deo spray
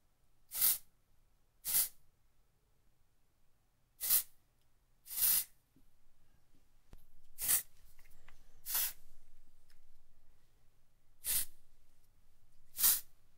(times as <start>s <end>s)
0.5s 0.9s, 1.6s 2.0s, 4.0s 4.3s, 5.1s 5.6s, 7.4s 7.7s, 8.6s 9.0s, 11.2s 11.6s, 12.7s 13.1s